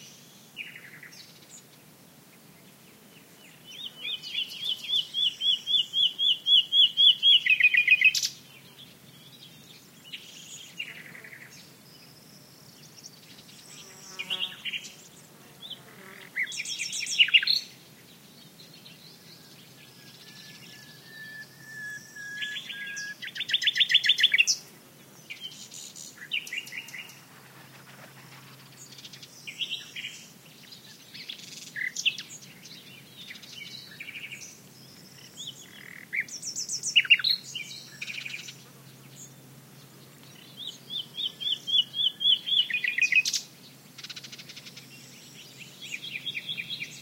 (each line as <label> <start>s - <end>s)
Nightingale song 2.6s - 47.0s
other bird (Serin, Warbler) calls in background 19.0s - 24.6s
other bird (Serin, Warbler) calls in background 31.1s - 47.0s